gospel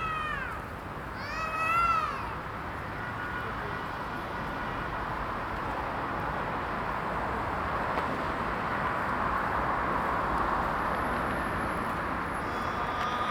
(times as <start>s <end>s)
12.4s 13.3s